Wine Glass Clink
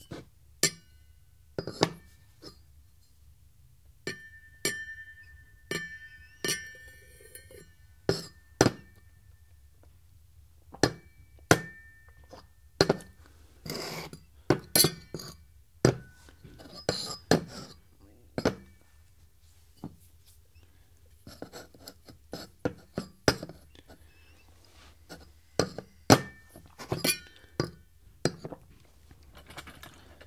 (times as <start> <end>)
4.1 9.4, 10.9 13.1